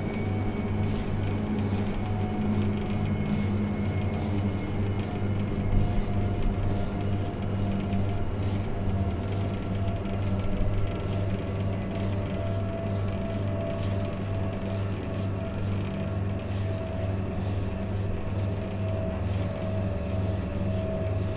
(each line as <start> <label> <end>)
0.0 Wind Turbine 21.3